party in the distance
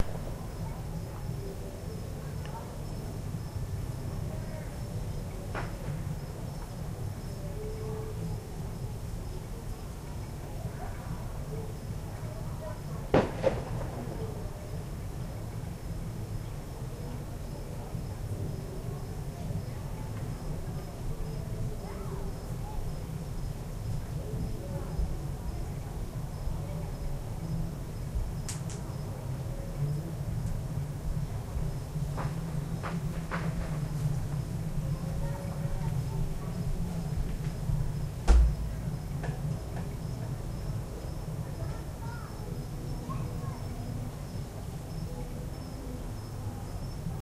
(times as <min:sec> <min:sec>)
0:12.6 0:15.4